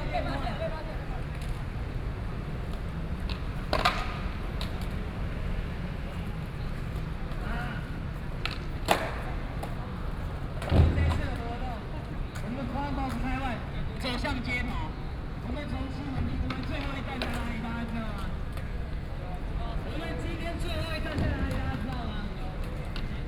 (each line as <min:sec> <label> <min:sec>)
0:00.0 Young people are skateboarding 0:23.2